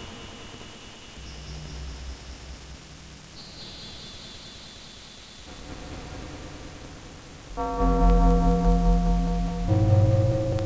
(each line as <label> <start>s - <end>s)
Rain 0.0s - 10.6s
background noise 0.0s - 10.6s
bell 7.6s - 10.6s